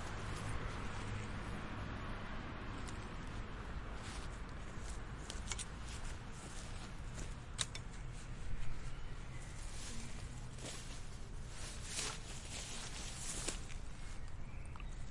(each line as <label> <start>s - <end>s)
a car passes by 0.0s - 5.2s